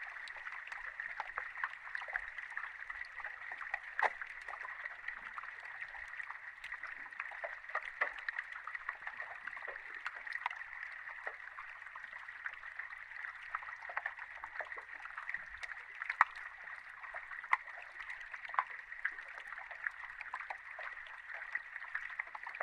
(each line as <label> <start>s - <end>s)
water 0.0s - 22.6s